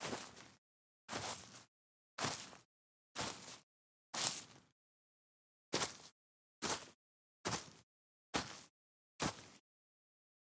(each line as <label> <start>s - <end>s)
Footsteps sequence on Frozen Grass 0.0s - 3.6s
Footsteps sequence on Frozen Grass 4.2s - 4.7s
Footsteps sequence on Frozen Grass 5.8s - 7.8s
Footsteps sequence on Frozen Grass 8.4s - 9.6s